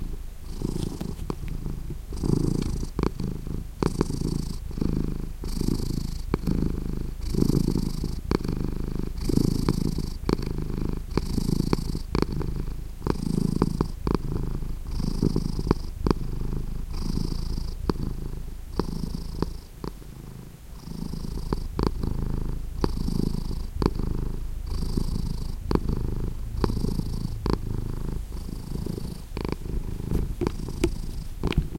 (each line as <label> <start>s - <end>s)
cat called drake purring 0.0s - 31.7s